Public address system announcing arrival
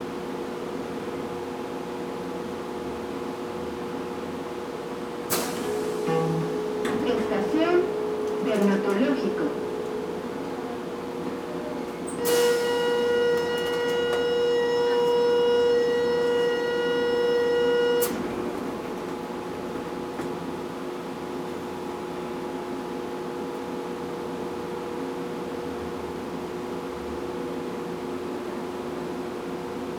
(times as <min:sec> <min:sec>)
0:05.3 0:20.2